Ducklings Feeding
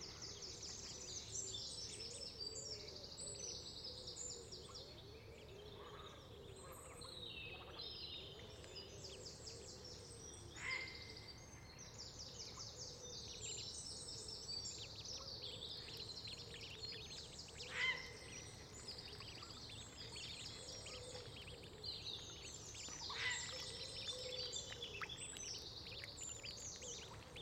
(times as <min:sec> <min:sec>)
0:15.7 0:27.4